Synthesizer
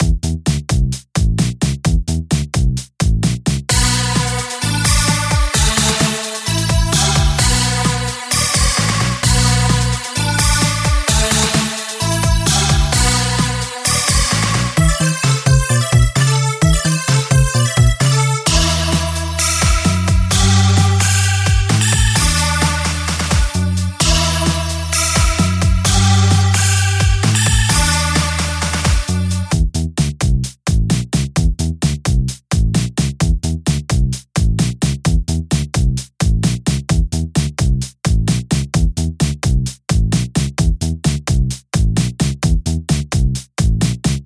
3.7s 29.5s

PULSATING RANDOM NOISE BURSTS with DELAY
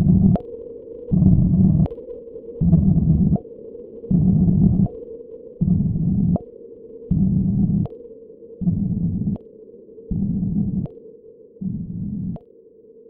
0.0s 0.4s, 2.6s 3.4s

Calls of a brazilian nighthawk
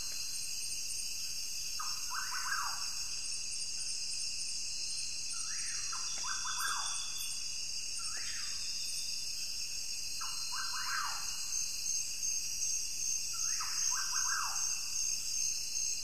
1.8s 2.9s, 5.4s 7.4s, 10.2s 11.6s, 13.3s 15.1s

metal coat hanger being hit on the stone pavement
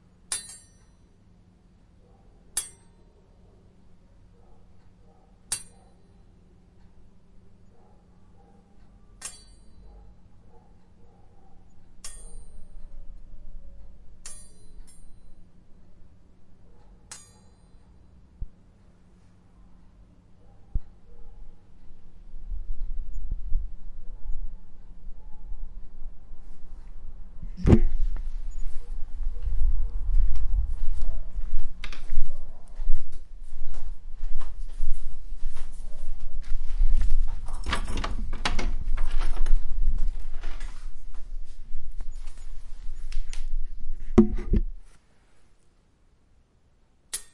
0.3s 1.0s, 2.6s 3.0s, 5.5s 5.8s, 9.2s 9.8s, 12.0s 12.8s, 14.2s 15.3s, 17.1s 17.8s, 47.1s 47.3s

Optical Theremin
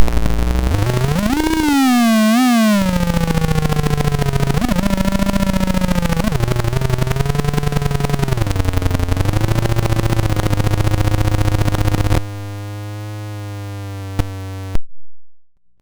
0.0s 12.2s

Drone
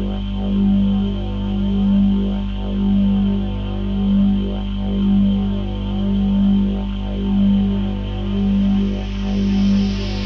3.4s 10.2s

